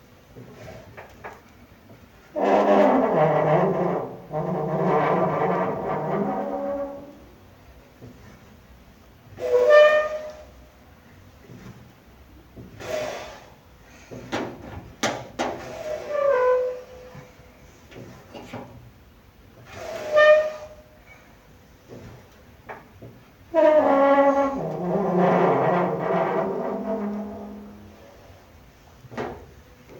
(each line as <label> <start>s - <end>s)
Rusty locker door squeal / creak 2.4s - 7.3s
Rusty locker door squeal / creak 9.4s - 10.6s
Rusty locker door squeal / creak 15.6s - 17.2s
Rusty locker door squeal / creak 19.7s - 21.3s
Rusty locker door squeal / creak 23.5s - 28.0s